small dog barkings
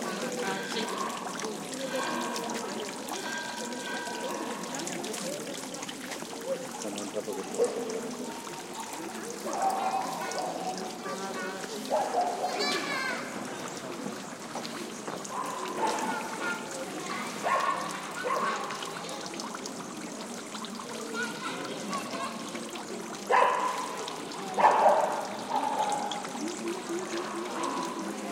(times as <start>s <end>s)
17.4s 18.7s, 23.3s 24.0s, 24.6s 26.0s